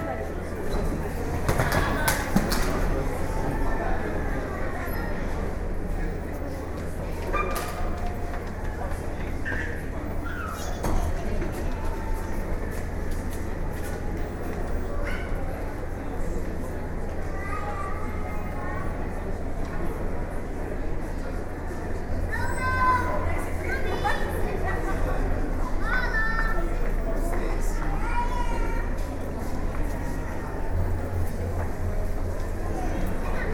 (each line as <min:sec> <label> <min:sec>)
0:00.0 General foyer voices 0:33.5